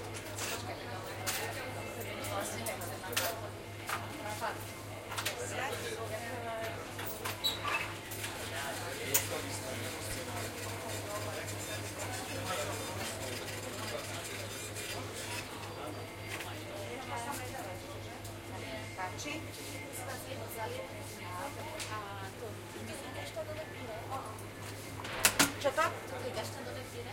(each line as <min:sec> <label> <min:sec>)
0:07.1 espresso 0:16.8